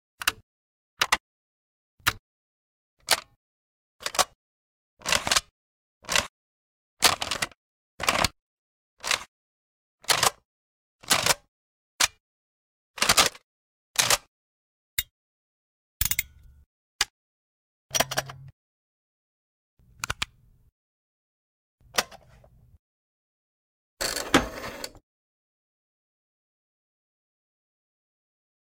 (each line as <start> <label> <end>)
17.9 buttons 18.5
20.0 buttons 20.4